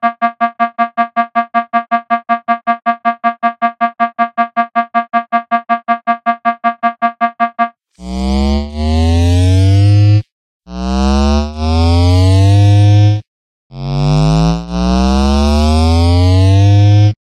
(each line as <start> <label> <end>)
0.0 alarm 10.0